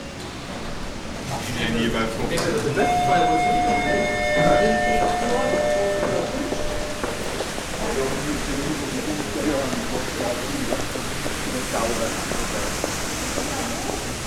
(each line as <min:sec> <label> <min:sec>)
0:06.5 indoor fountain 0:14.2